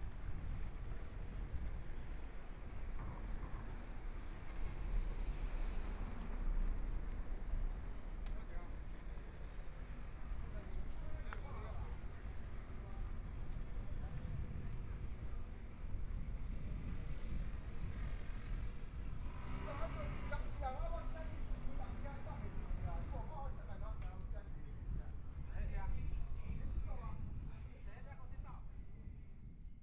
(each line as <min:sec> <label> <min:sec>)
0:00.0 walking on the small Road 0:29.8
0:15.9 Traffic Sound 0:23.7